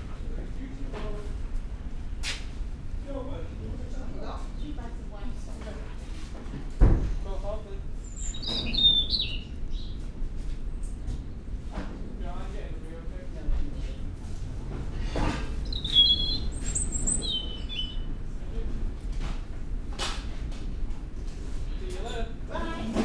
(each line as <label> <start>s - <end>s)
voices 2.9s - 23.0s
resident robin singing 8.0s - 10.0s
resident robin singing 15.4s - 18.2s